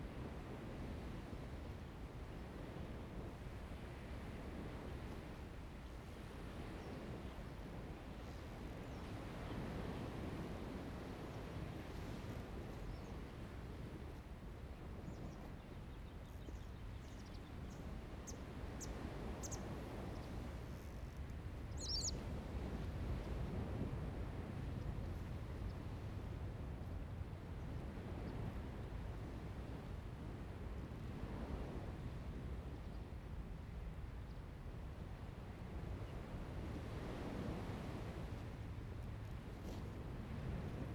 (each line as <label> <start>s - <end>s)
waves 17.9s - 40.9s